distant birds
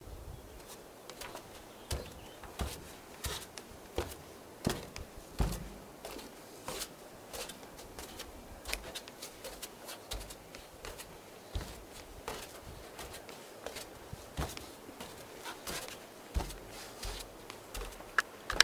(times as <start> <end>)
0.0 6.3